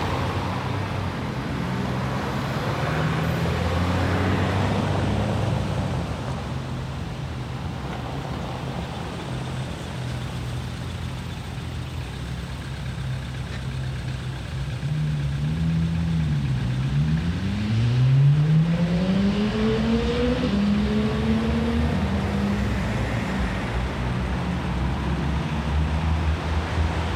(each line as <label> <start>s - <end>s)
heavy traffic 0.0s - 27.1s